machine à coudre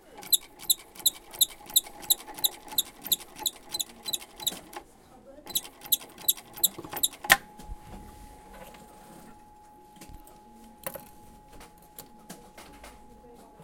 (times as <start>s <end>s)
5.5s 7.4s